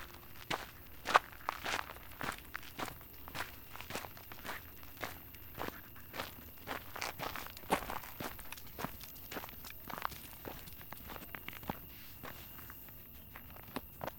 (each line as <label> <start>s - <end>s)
walking the dog 0.0s - 14.1s